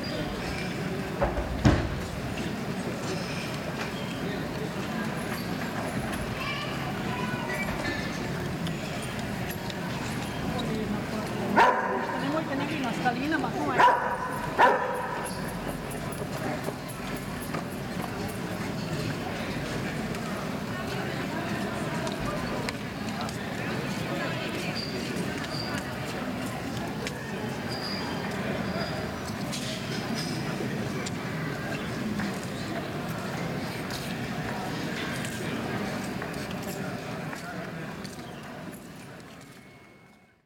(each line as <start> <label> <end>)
5.8 commentaries of citizens 17.3